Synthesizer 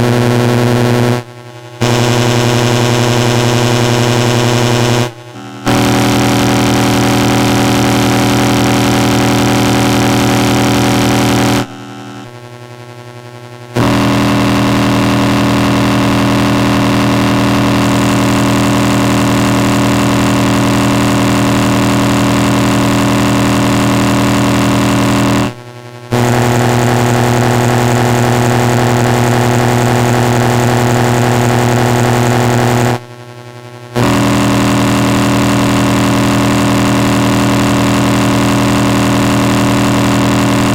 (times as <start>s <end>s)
1.8s 12.4s